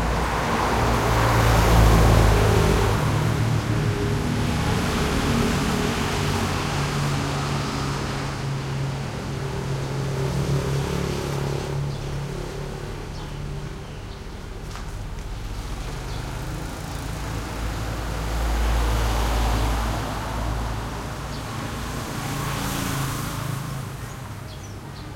traffic medium busy 0.0 - 25.1

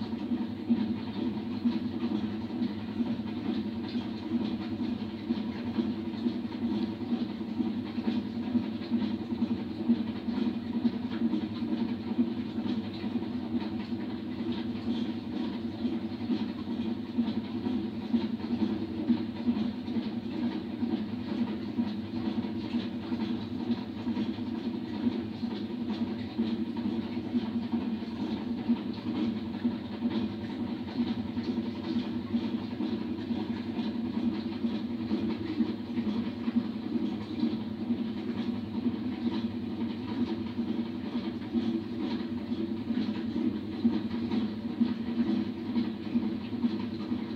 washing machine 0.0 - 47.3

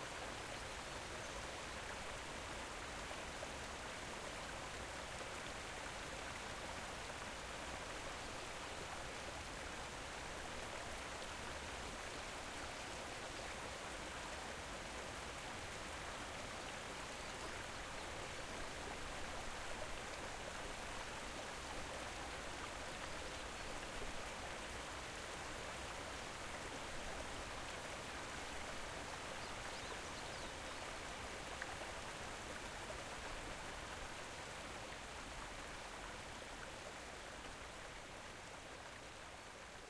waterfall in a big space 0.0 - 39.8

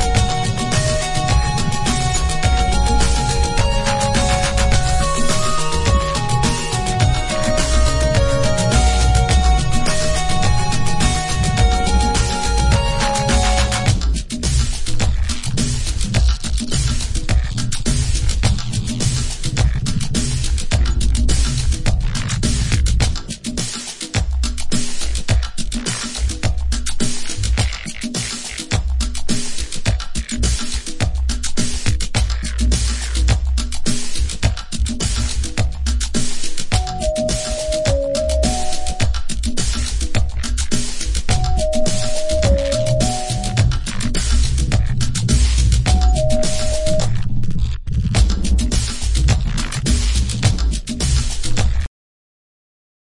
strings 0.0 - 13.9
wobble bass 0.0 - 23.6
Afro percussion 0.0 - 51.9
wobble bass 24.2 - 51.9

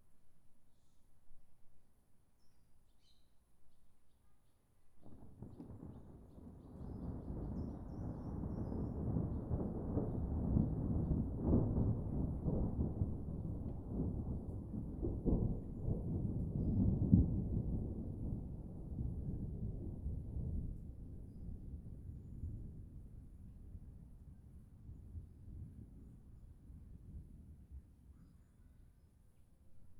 rumble of distant thunder 5.0 - 28.0

